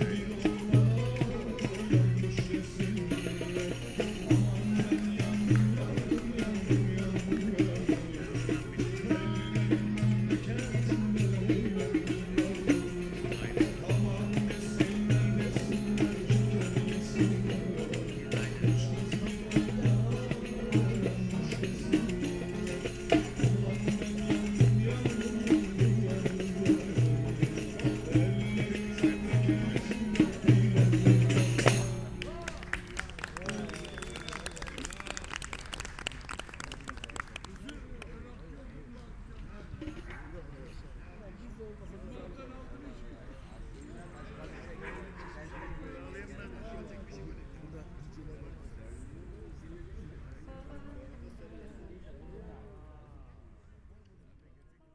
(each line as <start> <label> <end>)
0.0 musicians gathering 38.4